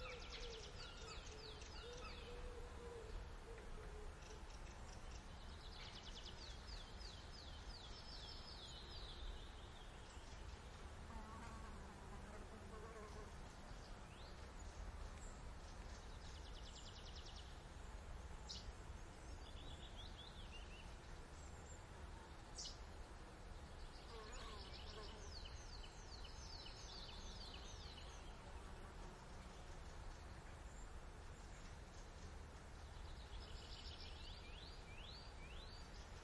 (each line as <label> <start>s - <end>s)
birds 12.7s - 36.2s